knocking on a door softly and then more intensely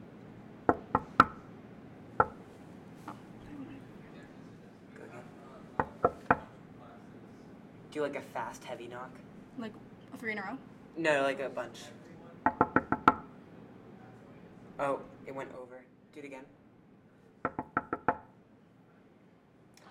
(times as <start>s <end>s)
5.8s 6.5s, 12.4s 13.3s, 17.4s 18.3s